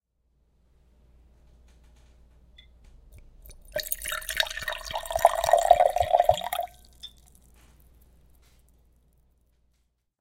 liquid being poured into a glass 3.4 - 7.5

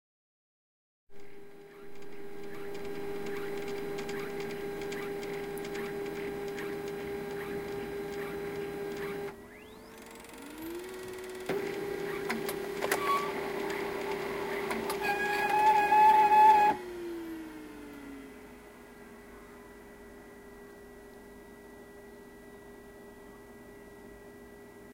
loud squeaky clog of the poor samsung laser printer 11.2 - 16.8

